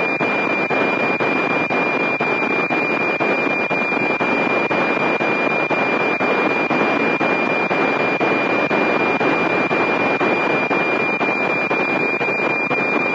0.0s weather map digital data transmission 13.1s

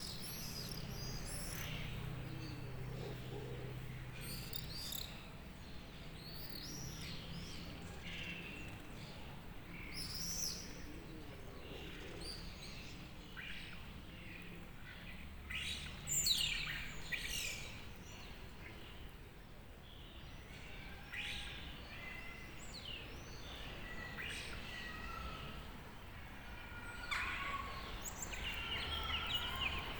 0.0s pigeons 4.7s
0.0s cars pass through the square 29.9s
0.0s voices of passers-by in the distance 29.9s
8.4s pigeons 13.1s
23.6s cries of blackbirds 29.9s

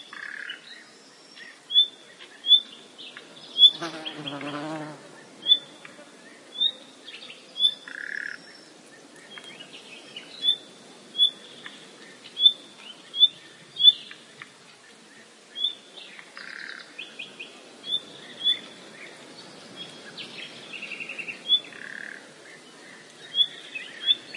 3.3s insects flying 6.3s

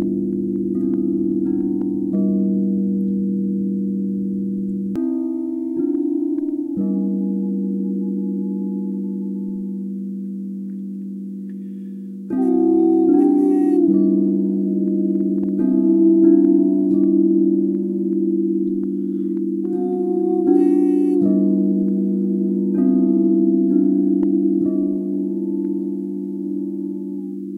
0.0s 30-inch diameter Zildjian gong 27.5s
0.0s crystal singing bowls of varying notes and sizes 27.5s
0.0s vocal toning aligned with the bowls 27.5s

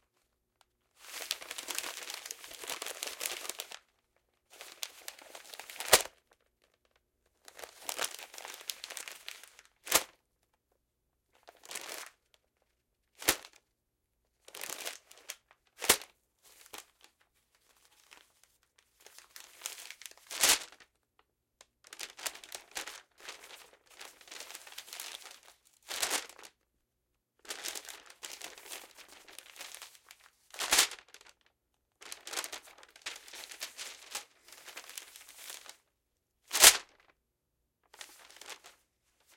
1.0s crumple 10.1s
21.8s crumple 26.6s
27.4s crumple 35.9s
37.9s crumple 39.3s

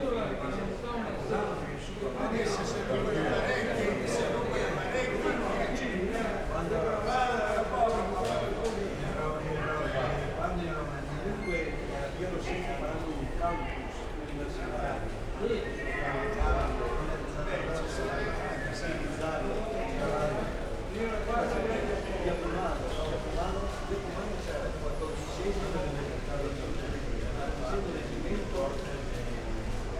0.0s walla of some elders having a lively discussion 29.9s

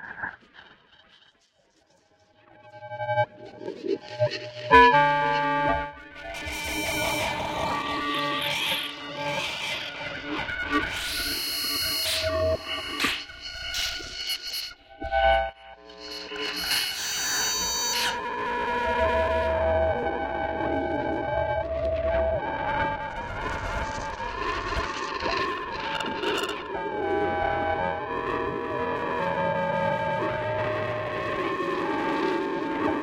0.0s Feedback and interferences 1.4s

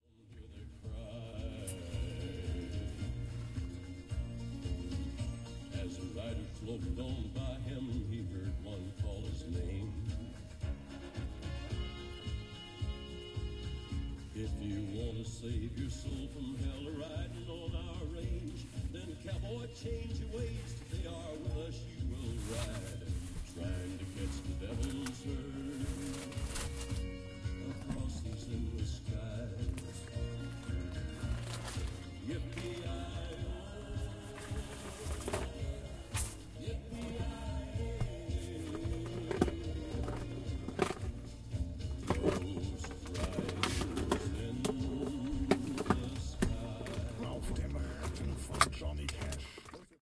0.0s music 50.0s
20.4s body sound 28.4s

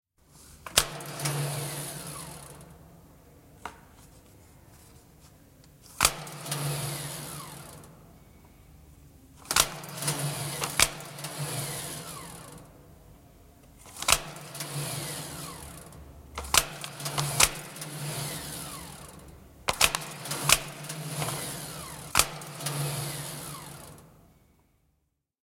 6.0s Old time clock 7.9s
9.4s Old time clock 12.6s
13.9s Old time clock 24.0s

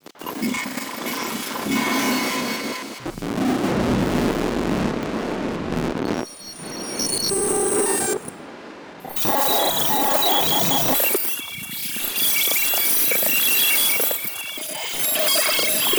9.0s glitch 15.9s

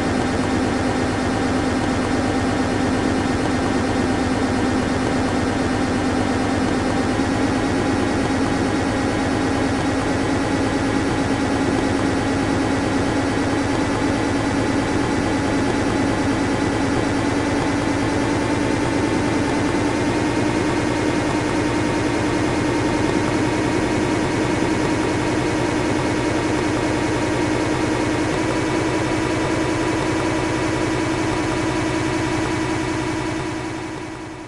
0.0s helicopter starting up,taking off, and slowly fading away 34.4s

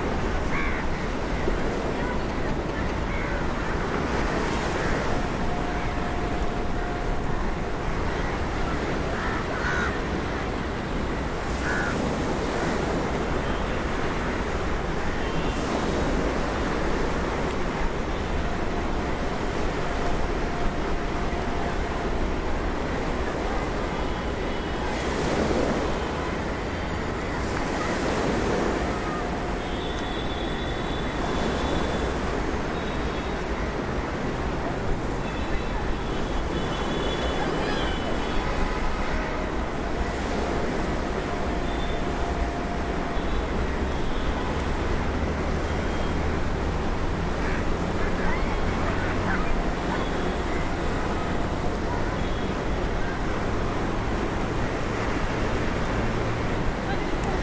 0.0s ocean waves against sea wall 57.4s
0.5s nearby crows 1.0s
9.1s nearby crows 10.2s
11.5s nearby crows 12.1s
27.9s distant traffic horn honks 33.4s
35.2s distant traffic horn honks 46.2s

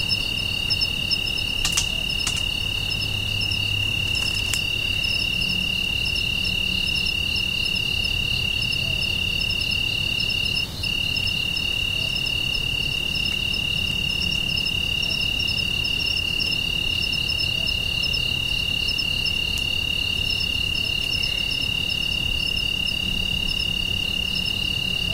0.0s Crickets 25.1s

